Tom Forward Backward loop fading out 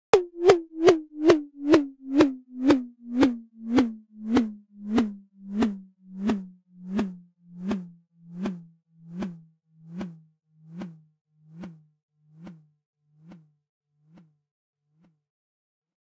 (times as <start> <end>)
0.1 10.2